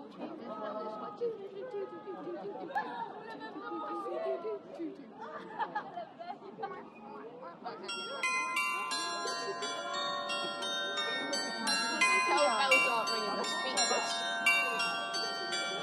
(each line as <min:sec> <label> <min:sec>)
0:07.9 performance of bells 0:15.8